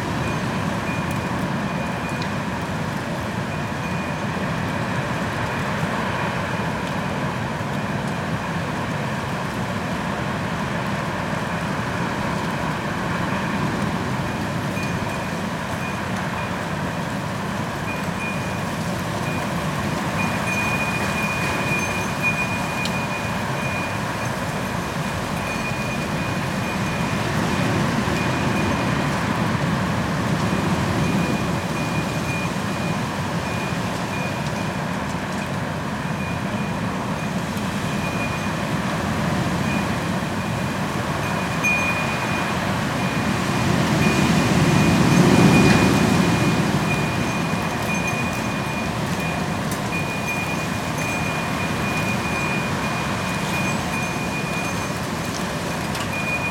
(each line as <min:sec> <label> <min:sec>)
0:00.0 wind 0:56.5